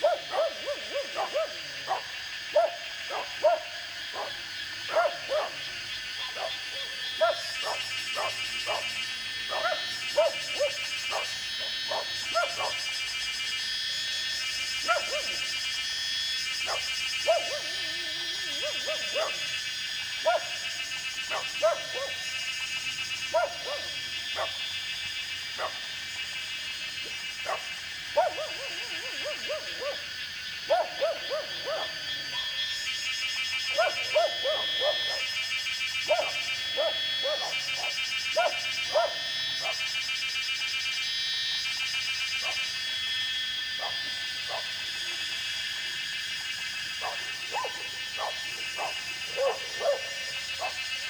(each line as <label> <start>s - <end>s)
Dogs barking 0.0s - 40.0s
Cicada sounds 0.0s - 51.0s
Dogs barking 42.4s - 42.9s
Dogs barking 43.7s - 45.8s
Dogs barking 46.4s - 51.0s